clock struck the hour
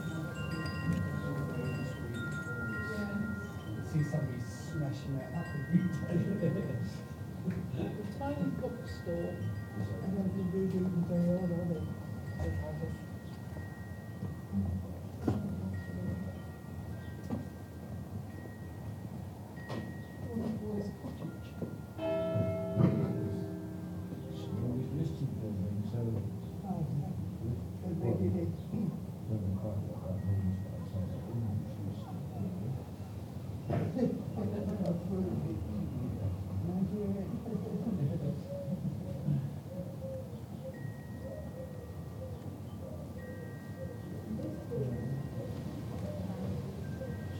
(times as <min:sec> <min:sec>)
0:22.0 0:25.2